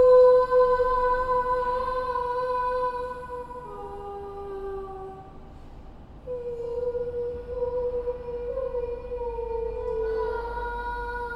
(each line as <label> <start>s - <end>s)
2 students singing in a hall 0.0s - 11.3s